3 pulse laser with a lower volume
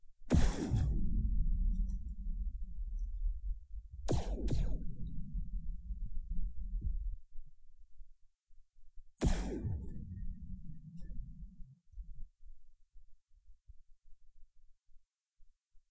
0.3 3.3, 4.1 6.8, 9.2 11.4

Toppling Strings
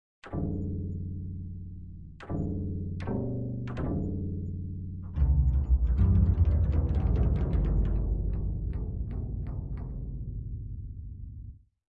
5.1 10.3

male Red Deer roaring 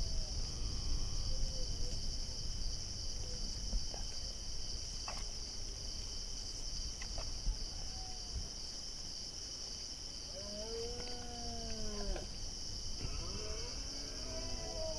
10.4 14.9

